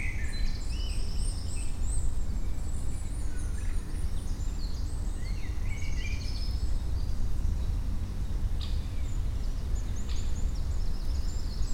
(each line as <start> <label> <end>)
0.0 Wind in the trees 11.7
0.0 birds 11.7